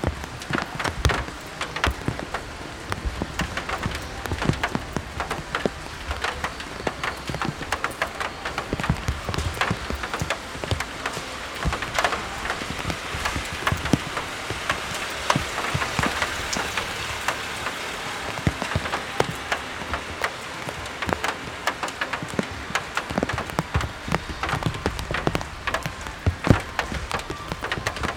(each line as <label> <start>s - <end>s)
raindrops 0.0s - 28.1s
talks 0.0s - 28.1s
walkers 0.0s - 28.1s